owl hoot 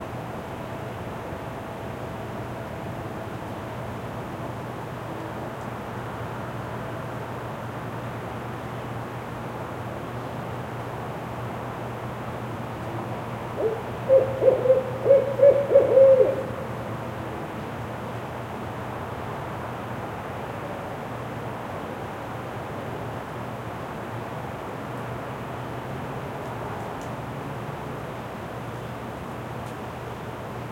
13.6 16.8

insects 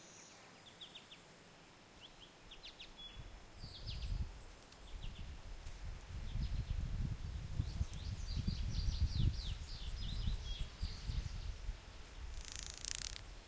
9.8 13.4

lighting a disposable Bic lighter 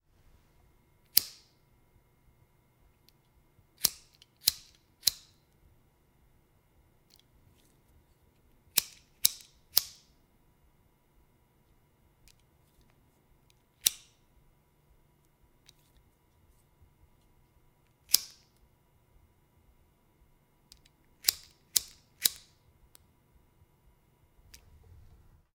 1.0 1.6, 3.8 5.4, 8.7 10.2, 13.4 14.2, 18.0 18.6, 20.7 23.0

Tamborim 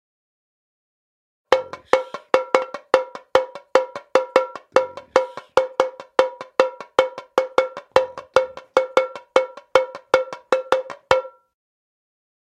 1.5 11.5

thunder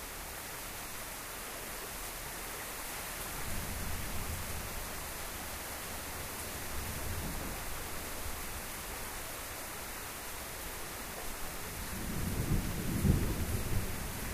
11.9 14.3

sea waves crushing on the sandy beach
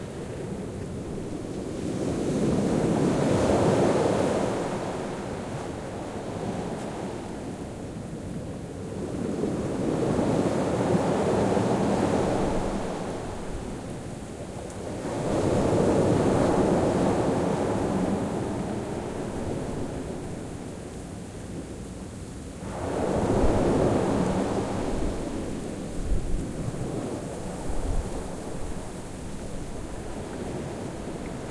0.0 7.6, 14.8 20.6, 22.6 31.5

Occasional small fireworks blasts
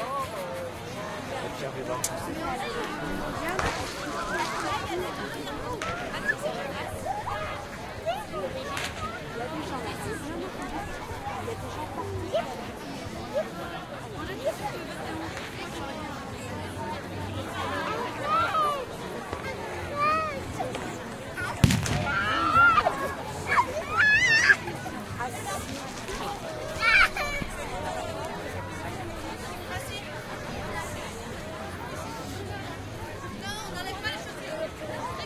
3.3 5.1, 20.8 22.8

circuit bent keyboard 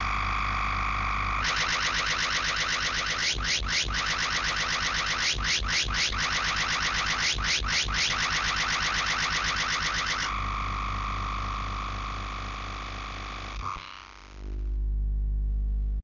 1.4 10.4

